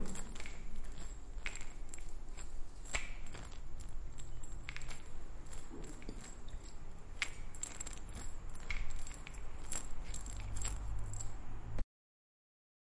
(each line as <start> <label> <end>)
0.0 Shaking vitamins in bottle 11.3